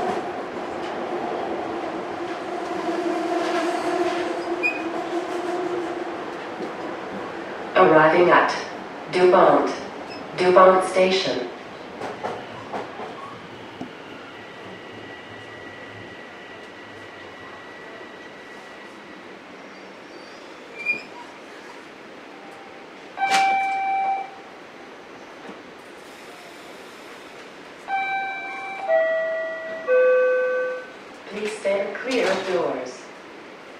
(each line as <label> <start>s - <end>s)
subway train 0.0s - 33.7s